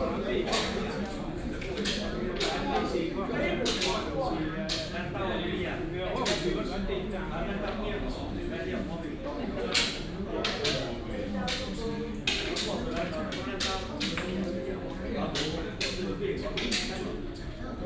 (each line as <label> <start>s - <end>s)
elderly are playing chess 0.0s - 5.4s
elderly are playing chess 6.1s - 6.8s
elderly are playing chess 9.4s - 17.8s